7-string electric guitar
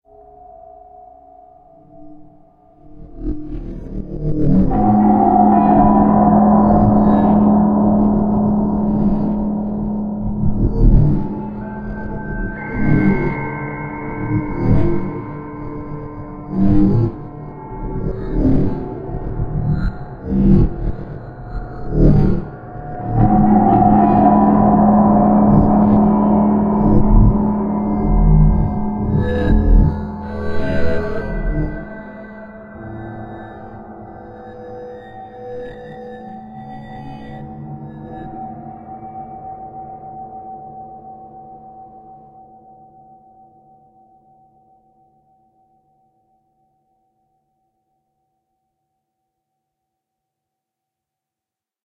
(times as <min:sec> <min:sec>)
0:03.5 0:41.9